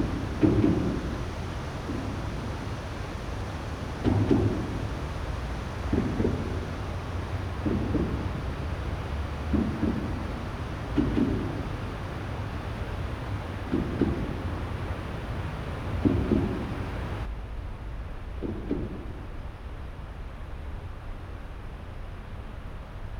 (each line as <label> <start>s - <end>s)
Low Rattling noise 0.0s - 17.3s